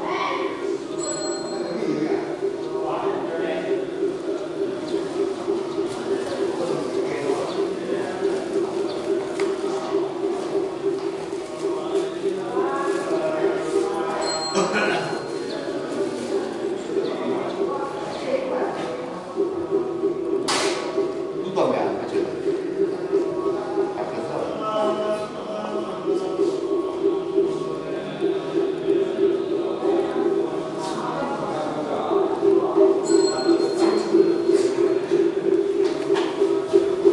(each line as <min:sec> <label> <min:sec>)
0:02.3 drum 0:14.0
0:19.2 drum 0:24.2
0:25.8 drum 0:30.8
0:32.0 drum 0:37.1